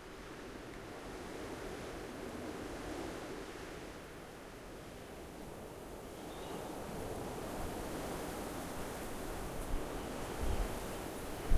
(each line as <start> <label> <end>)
0.0 wind 11.5